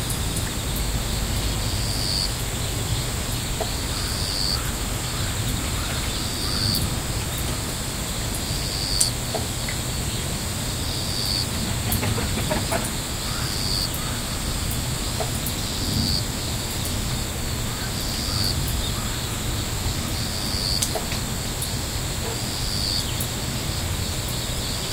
cars passing by 0.0 - 24.9
cicadas 0.0 - 24.9
crickets 0.0 - 24.9
raindrops falling on the house, the roof, the land 0.0 - 24.9
crow sounds 3.6 - 7.8
tractor engine 9.9 - 17.7
crow sounds 11.8 - 15.3
crow sounds 17.6 - 20.4

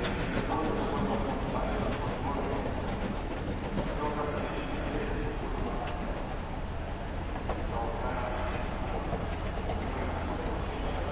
people 0.0 - 11.1
tramways 0.0 - 11.1

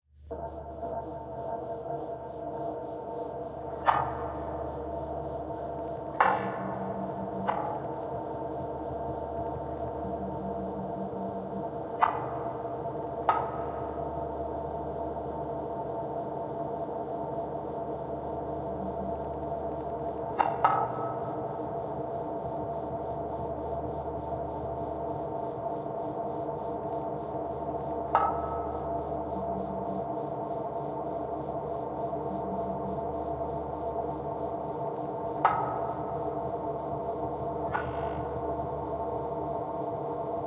Drone 0.1 - 40.4

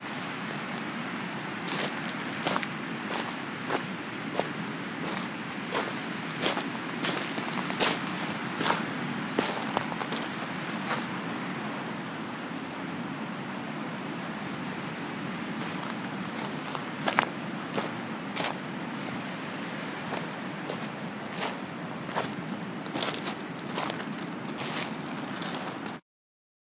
Walking On The Beach 0.0 - 26.0
Waves 0.0 - 26.0

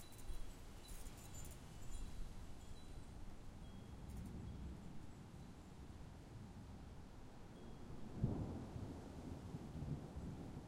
wind chimes 0.0 - 5.7

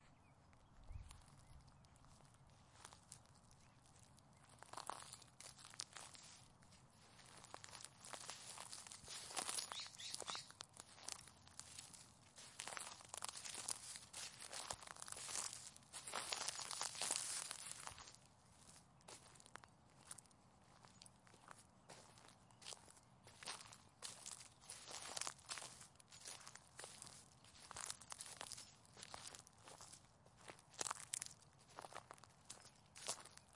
birds 0.0 - 2.6
Slowly Walking Downhill on Dry Leaves 0.0 - 33.5
birds 8.6 - 11.2

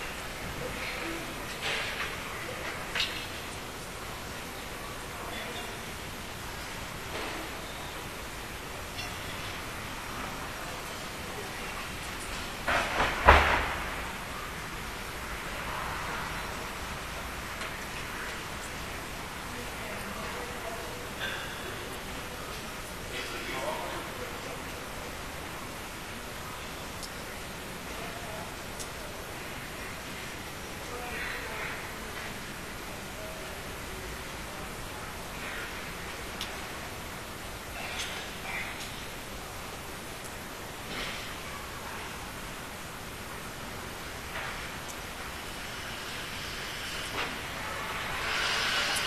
voices 0.0 - 49.0

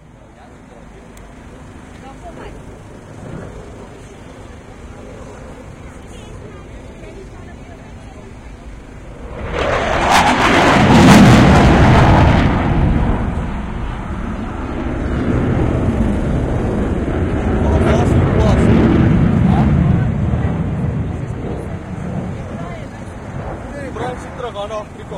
Gripen flypast5 8.8 - 17.5

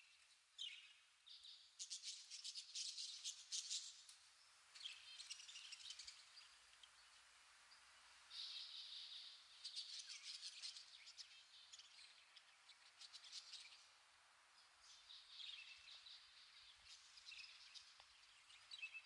Birds-in-a-cage 0.0 - 19.0

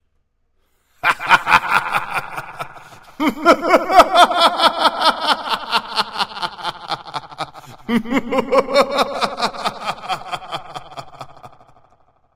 Maniacal Laugh 2 plus echo 1.0 - 12.0

